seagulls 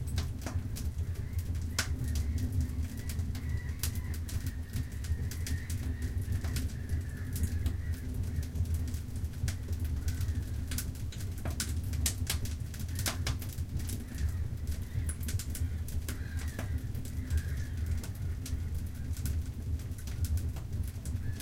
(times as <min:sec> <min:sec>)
0:01.0 0:09.0, 0:09.6 0:10.8, 0:12.9 0:20.0, 0:21.2 0:21.4